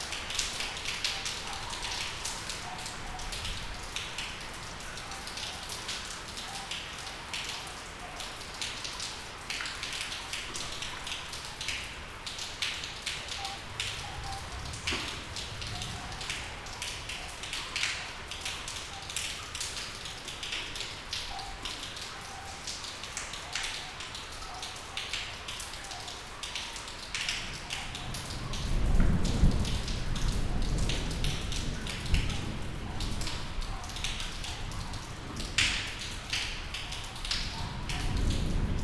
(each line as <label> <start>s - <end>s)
rain 0.0s - 38.8s
thunder 13.7s - 17.2s
thunder 27.9s - 36.0s
thunder 37.4s - 38.8s